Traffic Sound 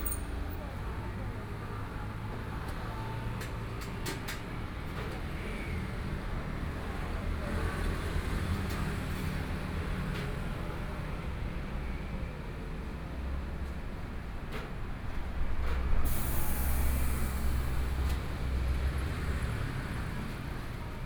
0.0 2.4, 14.6 21.0

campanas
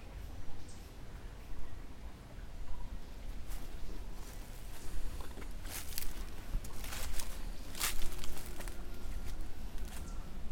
3.3 10.5

